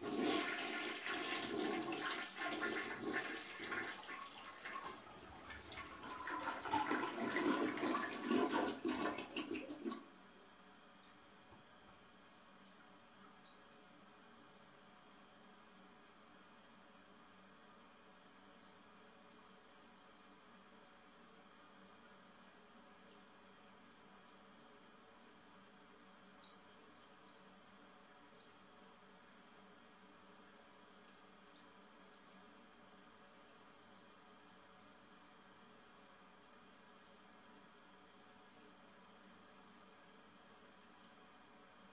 0.0s toilet flushing 10.2s

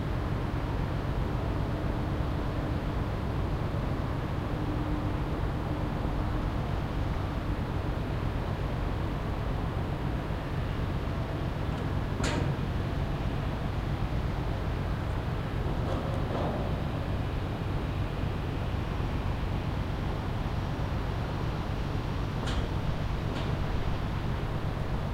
0.0s ship 25.1s

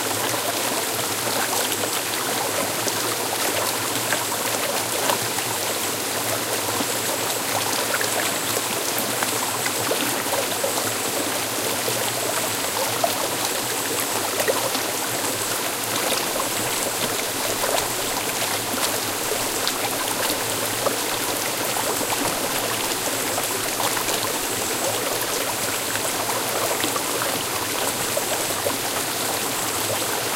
0.0s Stream 30.3s
0.0s waterfall 30.3s

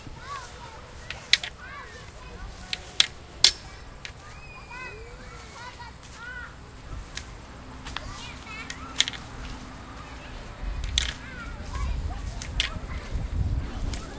0.0s Kids playing 14.1s
0.0s footsteps 14.1s
0.0s light wind 14.1s
0.0s traffic along brick streets 14.1s
1.6s big empty-sounding truck or school bus goes by 14.1s
2.7s long fiberglass NFB white cane hits various things 4.2s
3.7s Kids scream 6.5s

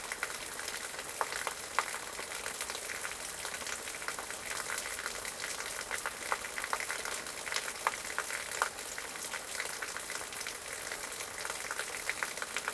0.0s water falling from a metal drain onto stones and plants 12.7s

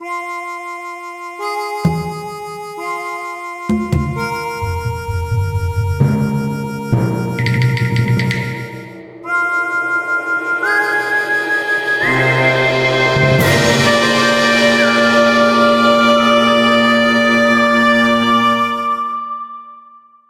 0.0s harmonica 7.4s
0.0s trumpet 20.0s
4.1s whistle 14.4s
8.4s violin 19.2s

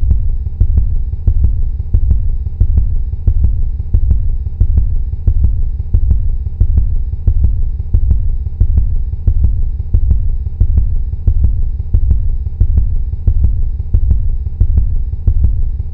0.0s heartbeat 15.9s

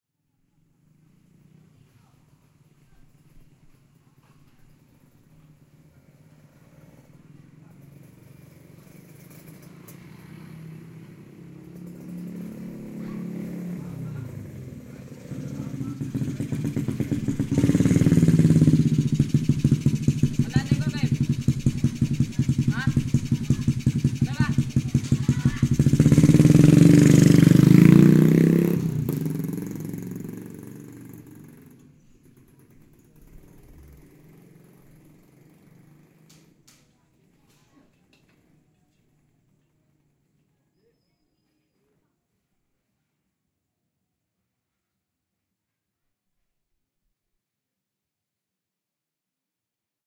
0.2s motorcycle 42.0s
4.4s motor lewat 36.9s

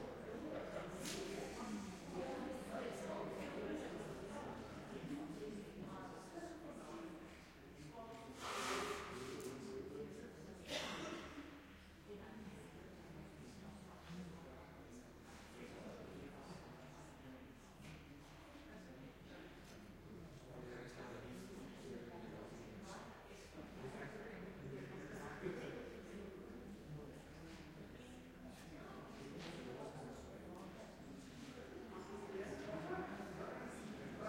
0.0s Crowd Talking 7.2s

